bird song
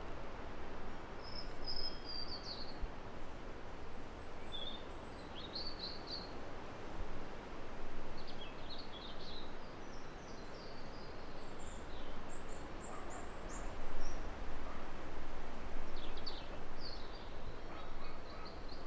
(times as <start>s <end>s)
1.2s 2.8s, 3.9s 6.3s, 8.2s 14.3s, 15.9s 18.8s